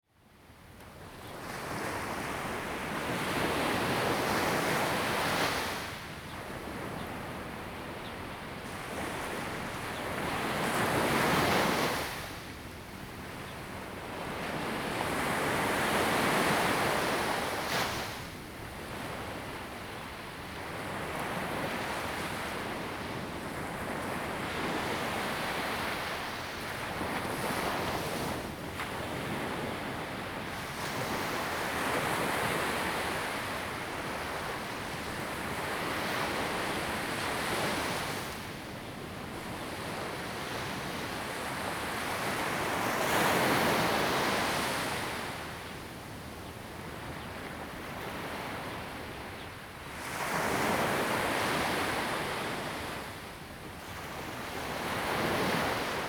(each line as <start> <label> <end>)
13.9 waves 45.9
46.7 waves 56.0